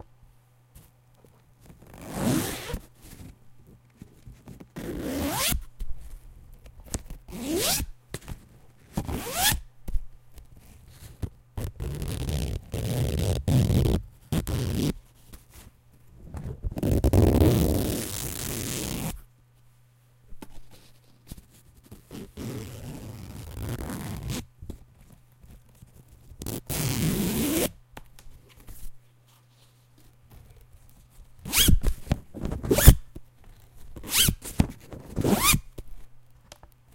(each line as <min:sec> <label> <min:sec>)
0:01.8 zipper noise 0:03.3
0:04.6 zipper noise 0:05.6
0:07.3 zipper noise 0:07.9
0:08.9 zipper noise 0:09.6
0:11.0 zipper noise 0:15.0
0:16.4 zipper noise 0:19.2
0:21.9 zipper noise 0:24.5
0:26.4 zipper noise 0:27.8
0:31.4 zipper noise 0:33.0
0:34.0 zipper noise 0:34.4
0:35.1 zipper noise 0:35.7